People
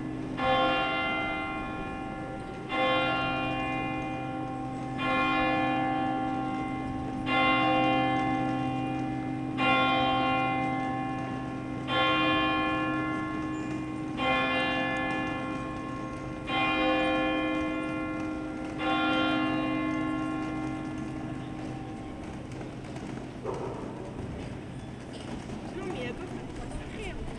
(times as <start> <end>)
20.7 27.3